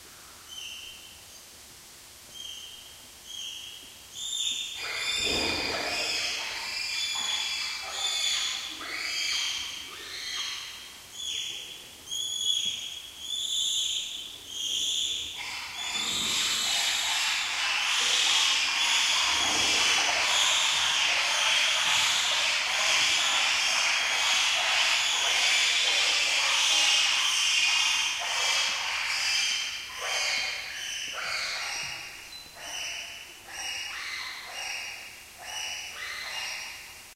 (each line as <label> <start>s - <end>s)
Bonobo monkeys cry 4.2s - 11.5s
Bonobo monkeys cry 14.6s - 36.9s
water 15.4s - 30.4s